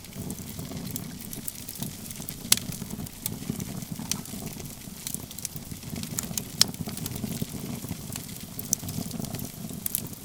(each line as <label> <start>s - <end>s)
camp fire with lots of pops and hisses 0.0s - 10.2s